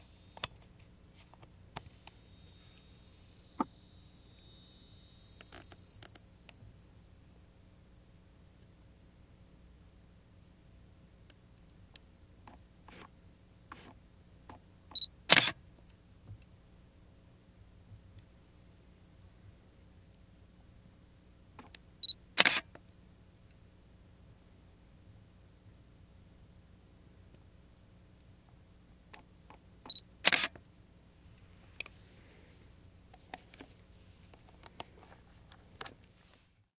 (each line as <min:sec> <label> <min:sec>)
0:00.0 auto focus servo engages 0:00.6
0:01.4 auto focus servo engages 0:34.9
0:02.0 high pitched flash 0:12.1
0:02.1 Auto focus sounds two beeps 0:13.9
0:14.9 SLR shutter click 0:15.8
0:14.9 high pitched flash 0:21.2
0:14.9 Auto focus sounds two beeps 0:21.3
0:21.6 SLR shutter click 0:23.6
0:22.0 Auto focus sounds two beeps 0:28.8
0:22.1 high pitched flash 0:28.8
0:29.9 SLR shutter click 0:30.8
0:29.9 Auto focus sounds two beeps 0:32.9